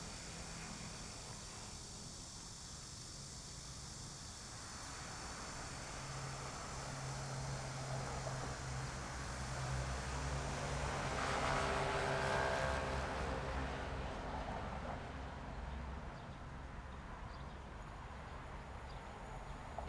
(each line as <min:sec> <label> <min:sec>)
0:00.0 Cicadas 0:19.8
0:00.0 Traffic sound 0:19.8
0:00.0 the train running through 0:19.8